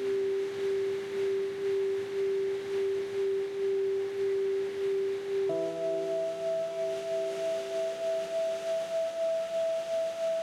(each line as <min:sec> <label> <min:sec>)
0:05.5 old piano 0:10.4